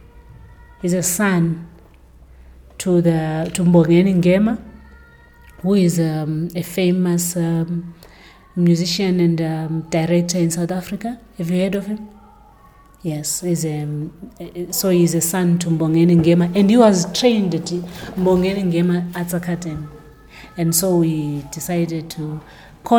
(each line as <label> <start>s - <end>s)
someone practicing, singing 3.4s - 22.9s
talks history in her new production 8.6s - 22.9s